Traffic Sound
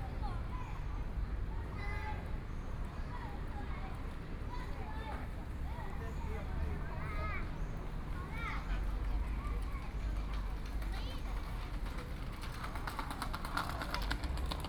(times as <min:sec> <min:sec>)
0:05.6 0:14.6